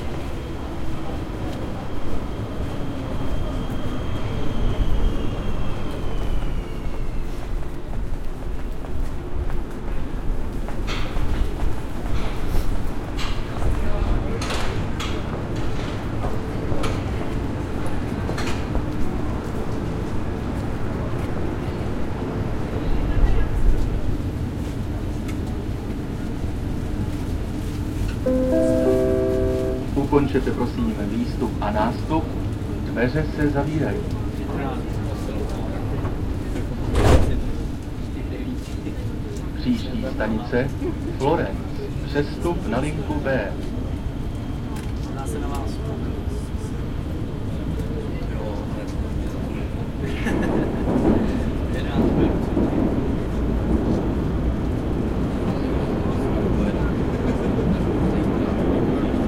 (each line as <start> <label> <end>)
0.0 subway 59.2
47.5 people 54.0